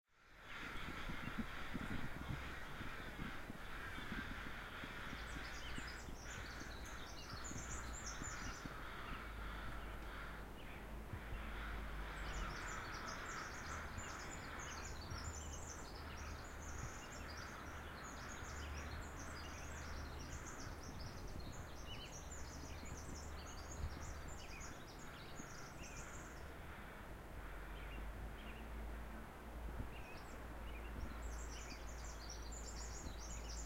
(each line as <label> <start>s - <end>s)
Songbirds 0.1s - 33.6s
Crows 0.3s - 28.6s